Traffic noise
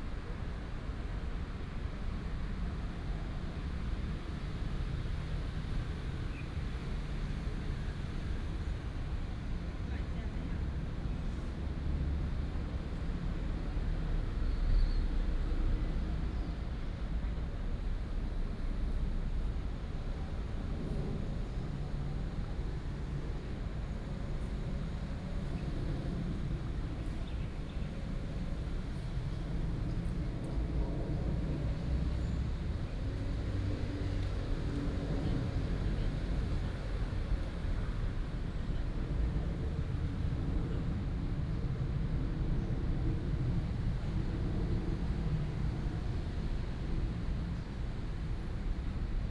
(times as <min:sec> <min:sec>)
0:30.5 0:42.1